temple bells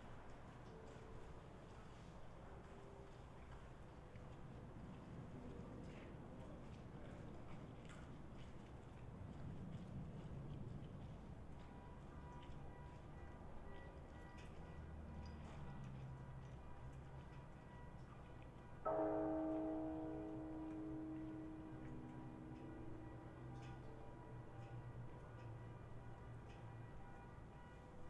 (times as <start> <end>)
18.9 28.0